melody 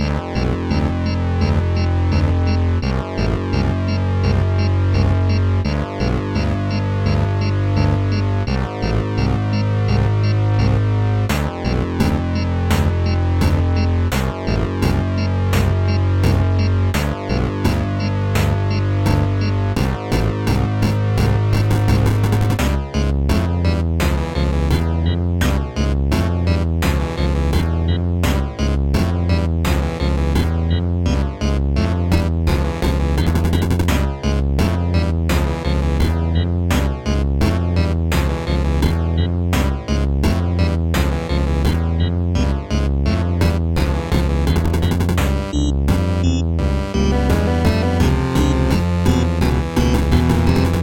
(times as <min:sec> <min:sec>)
0:40.6 0:50.8